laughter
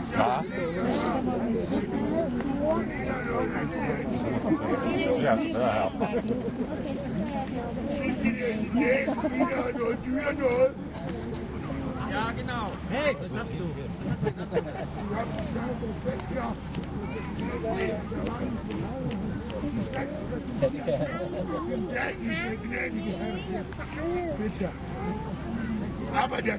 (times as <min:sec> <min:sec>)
0:06.0 0:06.6, 0:08.8 0:09.7, 0:14.0 0:15.2, 0:20.6 0:21.8